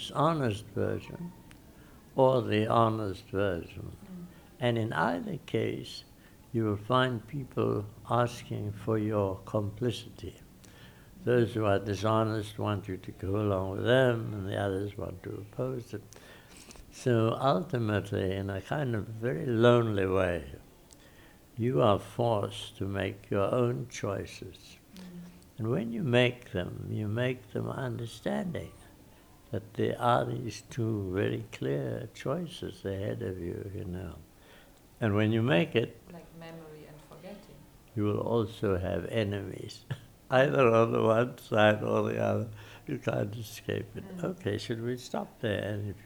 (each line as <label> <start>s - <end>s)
freedom fighter talks 38.0s - 46.0s